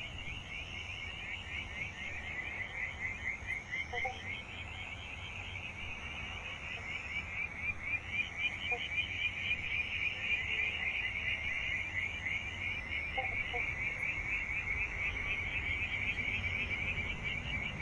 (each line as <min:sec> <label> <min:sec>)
0:00.0 Frogs 0:17.8
0:00.0 Insects 0:17.8
0:11.0 cars 0:17.8